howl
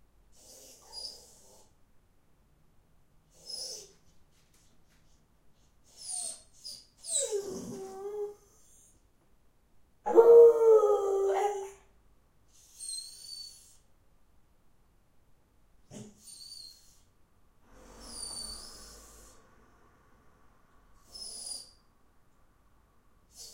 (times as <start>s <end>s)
7.0s 8.8s, 10.1s 11.9s